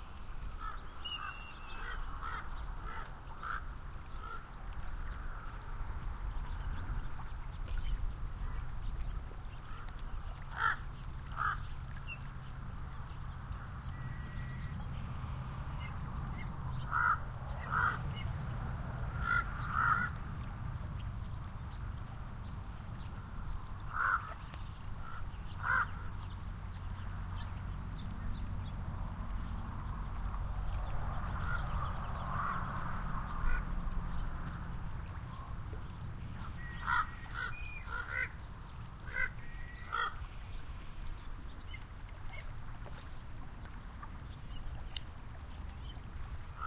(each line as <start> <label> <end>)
0.0 birds sing in the cottonwoods 46.6
0.0 steady wind creates wavelets on the lake 46.6
15.6 ravens fly overhead 20.7
23.8 ravens fly overhead 24.4
26.9 cars 37.5
30.4 ravens fly overhead 34.6
36.4 ravens fly overhead 38.4
39.0 ravens fly overhead 40.2